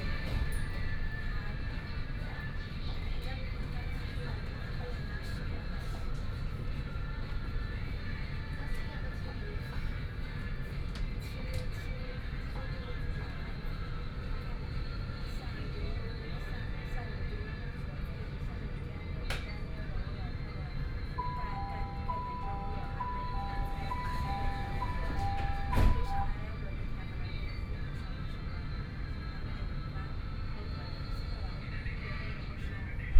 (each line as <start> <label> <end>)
21.2 Metro 26.4